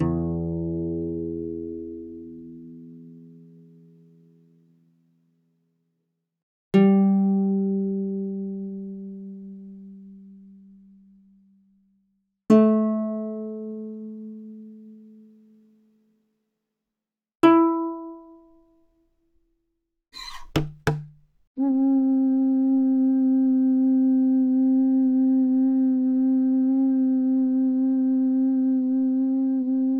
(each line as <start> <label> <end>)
20.2 thumb piano 21.2
20.2 ocarina 21.3